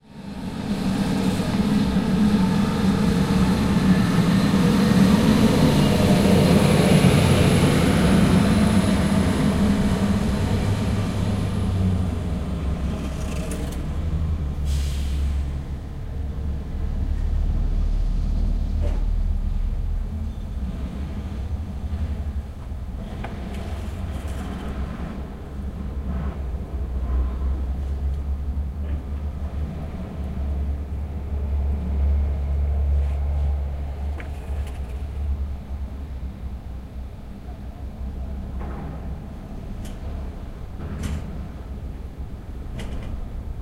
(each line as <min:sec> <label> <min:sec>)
0:00.1 huge container crane 0:43.6